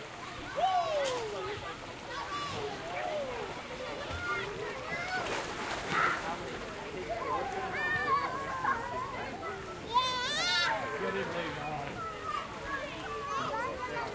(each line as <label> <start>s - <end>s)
splashing 0.0s - 14.1s
kids shouting 0.2s - 6.3s
kids shouting 7.1s - 14.1s